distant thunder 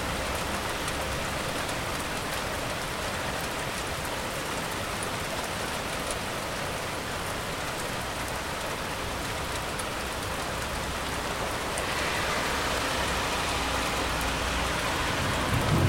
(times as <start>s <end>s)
14.0s 15.8s